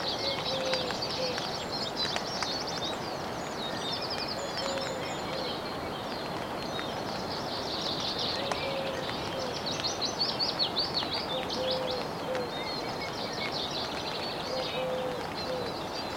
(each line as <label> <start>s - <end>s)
Drizzle in a tent 0.0s - 16.1s